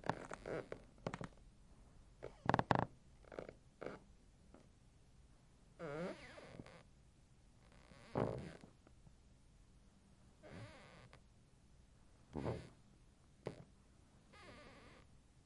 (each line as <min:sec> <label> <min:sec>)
0:00.0 footsteps on a very creaky wood floor 0:01.3
0:02.2 footsteps on a very creaky wood floor 0:04.0
0:07.9 footsteps on a very creaky wood floor 0:08.7
0:12.4 footsteps on a very creaky wood floor 0:12.7